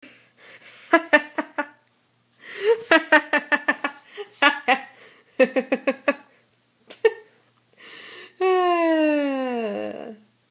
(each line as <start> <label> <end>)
0.6 Me laughing 1.8
2.4 Me laughing 7.4